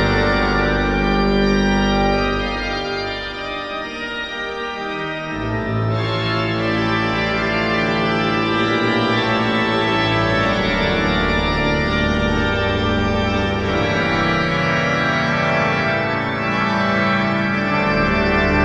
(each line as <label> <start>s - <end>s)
Organ concert 0.0s - 18.6s